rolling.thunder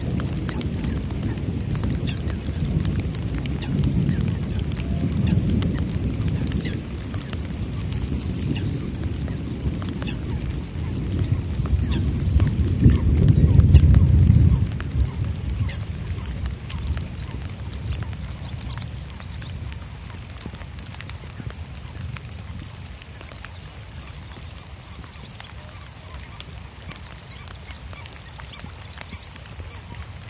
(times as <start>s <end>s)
0.0s 22.8s